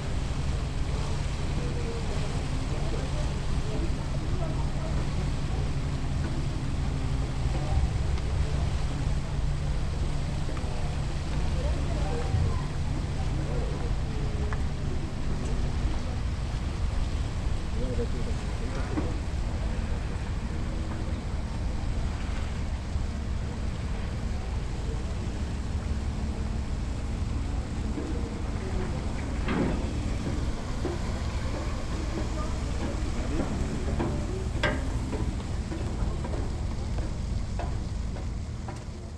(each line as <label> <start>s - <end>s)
Ferry landing 0.0s - 39.1s
People are waiting 0.0s - 39.1s